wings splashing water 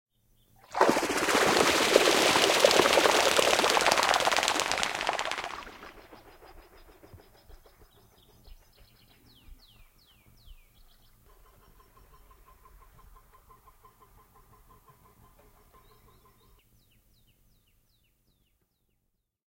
0:00.6 0:07.2

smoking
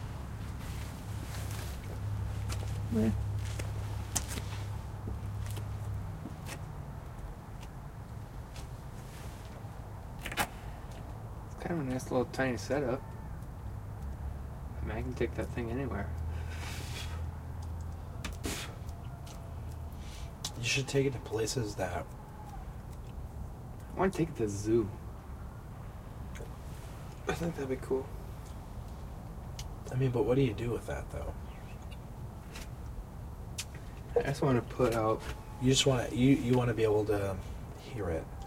0:16.2 0:19.0

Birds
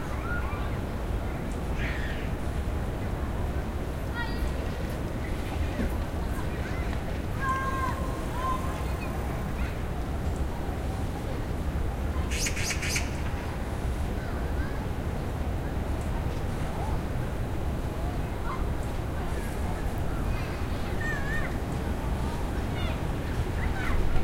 0:12.3 0:13.4

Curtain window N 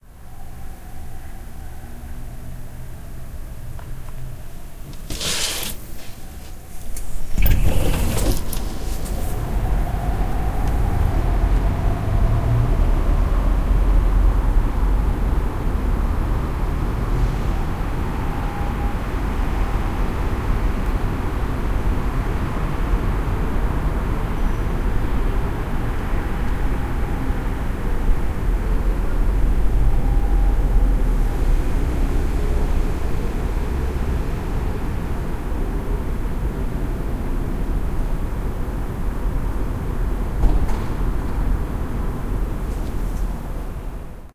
0:04.8 0:09.7

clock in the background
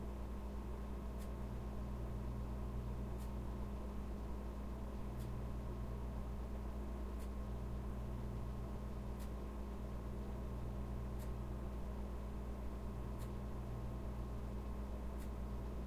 0:11.2 0:11.4, 0:15.1 0:15.4

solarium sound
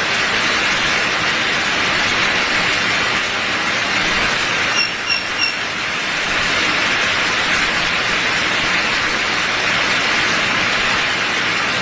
0:04.4 0:07.1

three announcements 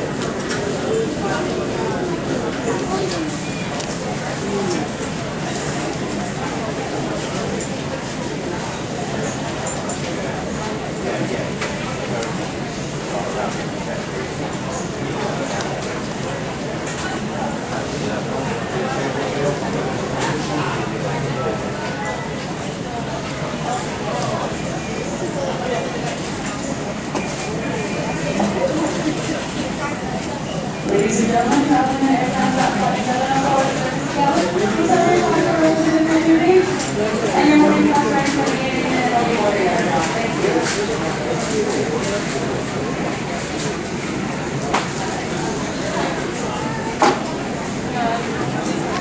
0:24.0 0:43.2

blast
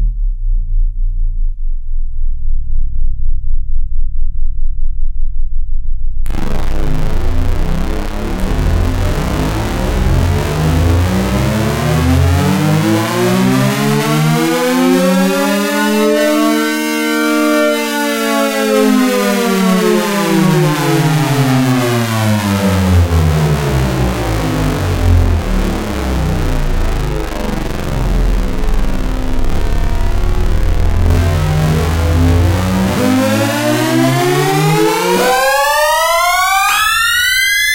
0:06.3 0:13.4

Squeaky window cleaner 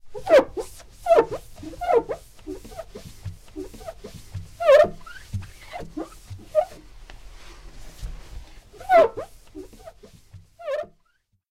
0:00.1 0:06.8, 0:08.7 0:11.2

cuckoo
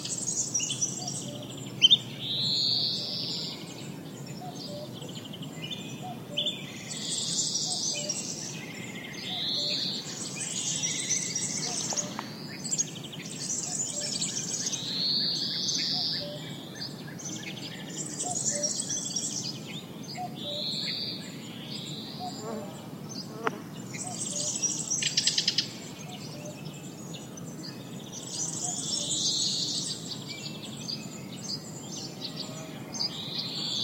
0:01.0 0:02.0, 0:04.4 0:05.1, 0:09.2 0:09.9, 0:11.0 0:12.3, 0:15.8 0:16.6, 0:18.1 0:18.9, 0:20.2 0:20.8, 0:24.0 0:24.6, 0:28.6 0:29.2

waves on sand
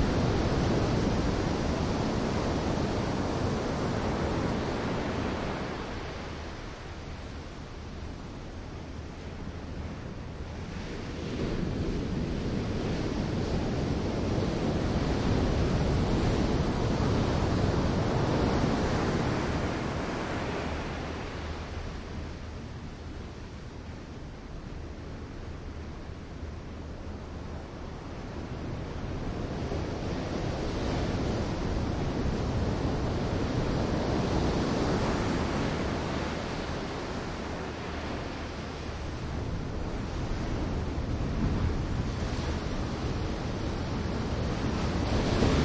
0:27.6 0:45.6

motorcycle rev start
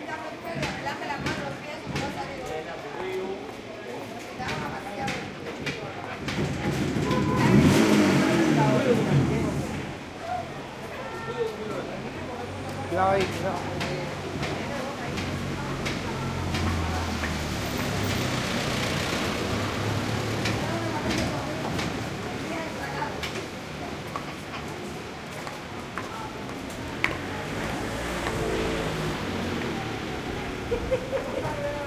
0:06.6 0:10.0

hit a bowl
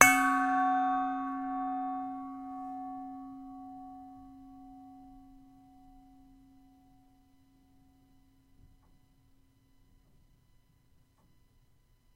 0:00.0 0:07.0

